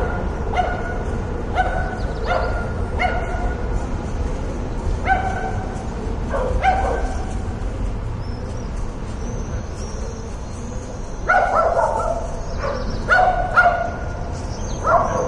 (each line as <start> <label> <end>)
0.0 dogs 3.8
0.0 traffic 15.2
5.0 dogs 7.5
9.1 dogs 15.2